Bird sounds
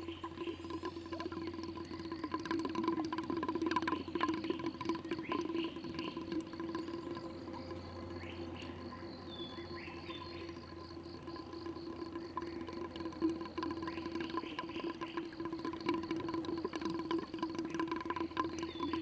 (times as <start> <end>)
3.8 11.0, 12.1 16.1, 18.1 19.0